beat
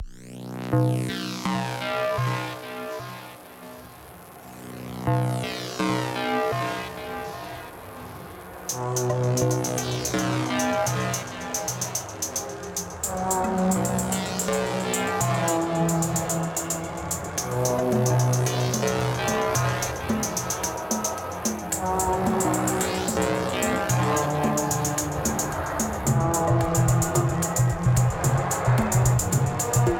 8.7 29.9

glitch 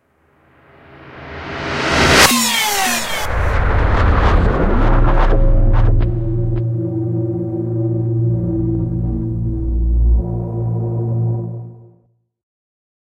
2.2 11.5

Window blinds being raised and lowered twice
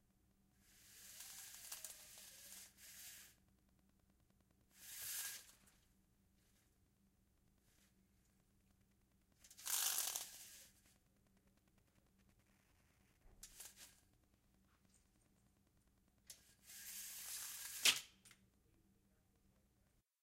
0.6 3.4, 4.8 5.8, 9.5 10.8, 13.4 14.0, 16.4 18.1

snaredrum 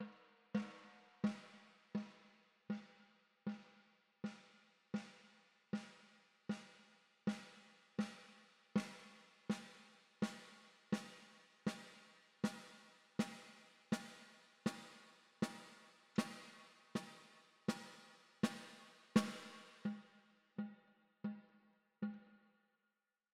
7.3 20.1

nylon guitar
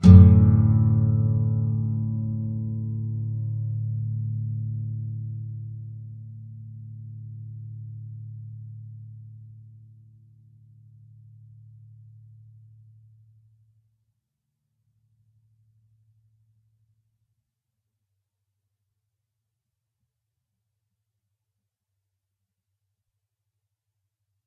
0.0 12.8

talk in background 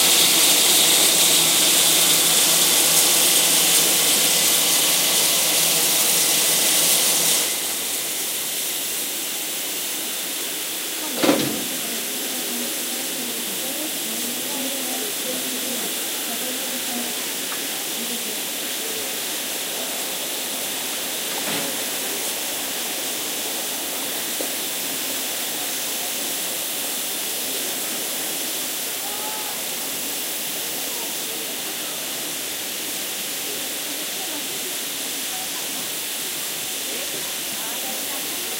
10.8 20.7, 25.3 38.5

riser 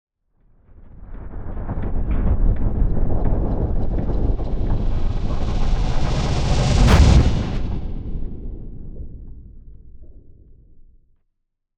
4.3 8.4

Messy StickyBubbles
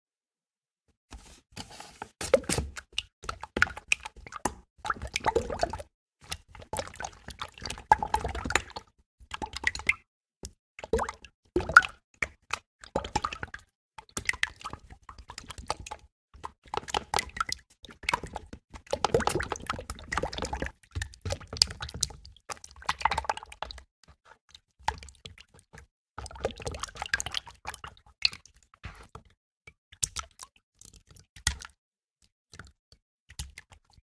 2.2 10.0, 14.3 23.9, 24.5 29.2

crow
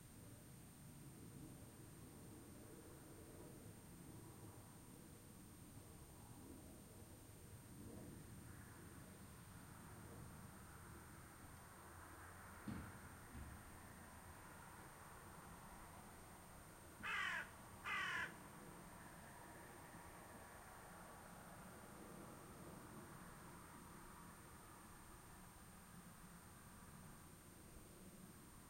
17.0 18.4

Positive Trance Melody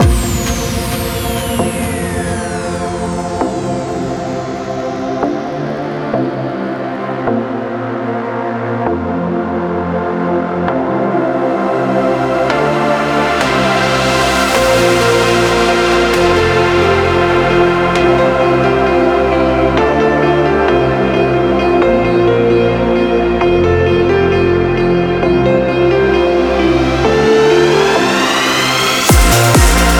26.4 29.9

